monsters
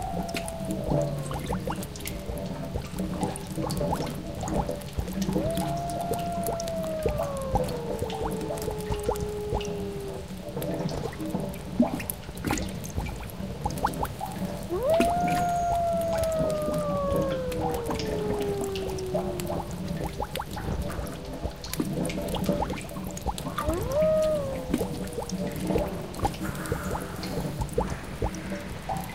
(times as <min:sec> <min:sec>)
0:00.0 0:03.4, 0:05.1 0:10.6, 0:14.6 0:21.0, 0:23.5 0:29.1